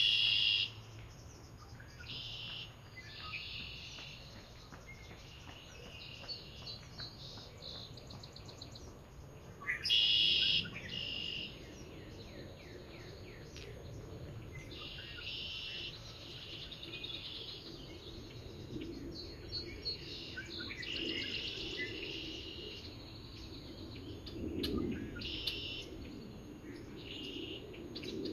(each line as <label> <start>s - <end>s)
planes 0.0s - 28.3s